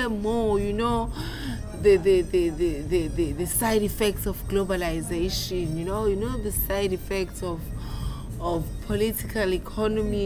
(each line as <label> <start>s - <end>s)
Jazz form the Cafe Bar 0.0s - 10.2s